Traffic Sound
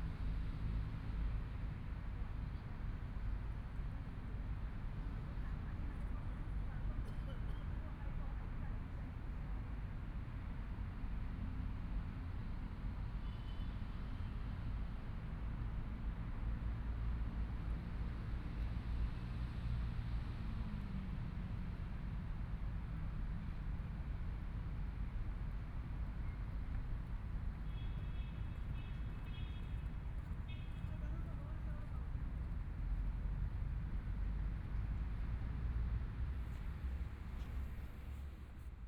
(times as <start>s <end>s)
22.6s 38.8s